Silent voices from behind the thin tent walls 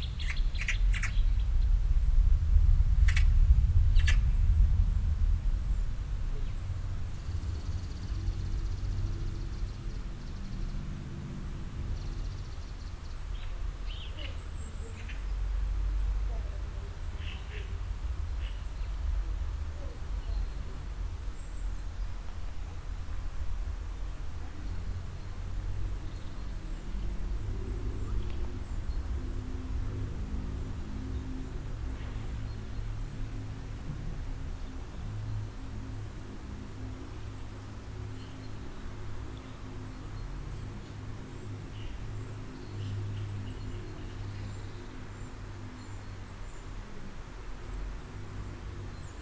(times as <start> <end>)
13.5 26.4